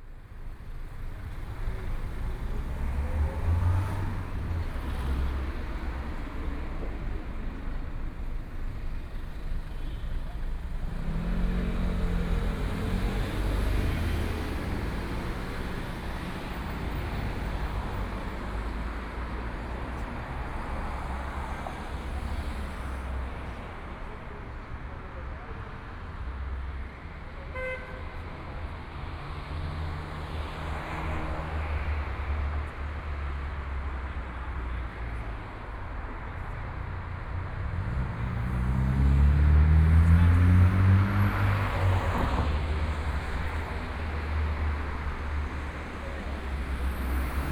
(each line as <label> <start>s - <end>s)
Traffic Sound 0.0s - 47.5s
walking in the Street 0.0s - 47.5s